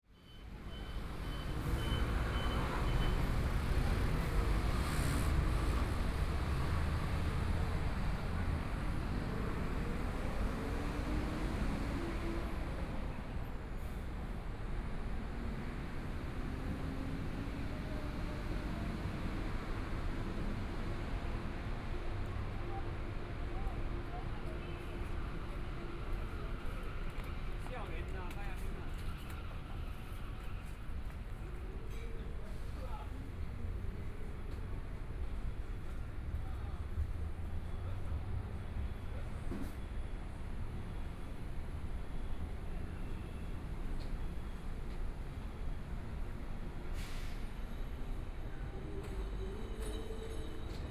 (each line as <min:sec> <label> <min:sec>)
0:22.6 Various shops voices 0:39.8
0:23.6 Walking through the bazaar 0:37.6